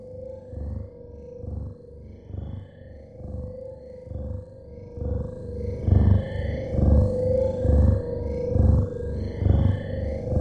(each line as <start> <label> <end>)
4.0 pulses 10.4